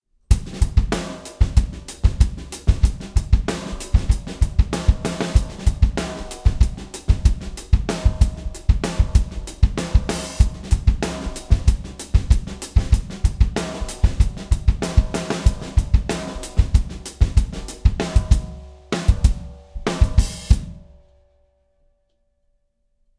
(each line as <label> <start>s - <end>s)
drum loops 0.3s - 20.8s